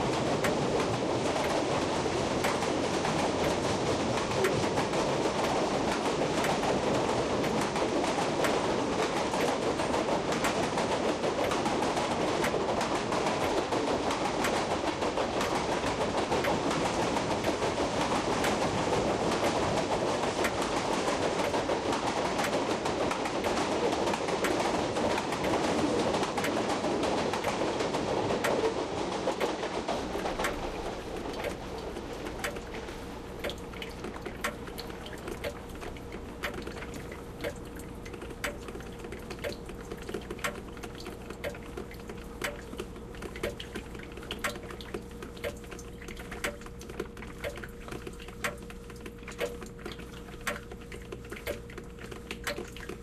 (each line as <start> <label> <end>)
0.0 clock 53.0